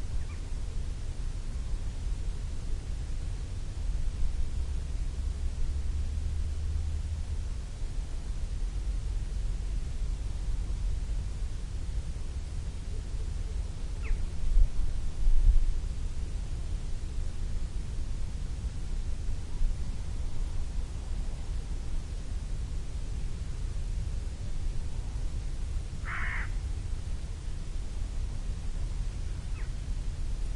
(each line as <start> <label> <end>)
0.0 low dronelike noise 30.5
0.0 wind 30.5